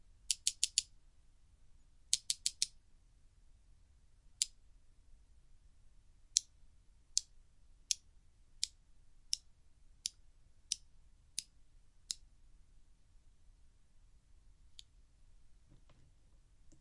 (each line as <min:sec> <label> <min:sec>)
0:07.9 Hitting chopsticks together at different time intervals 0:12.3